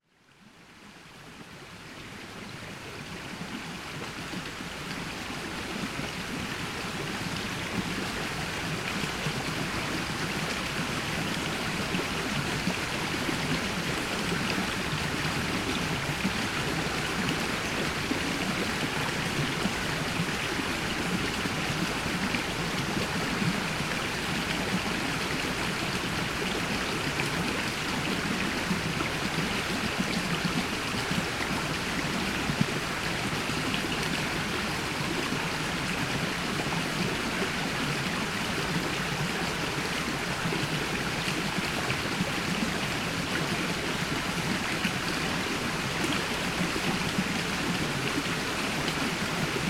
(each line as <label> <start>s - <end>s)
little river running into the biggest lithuanian river 0.0s - 49.6s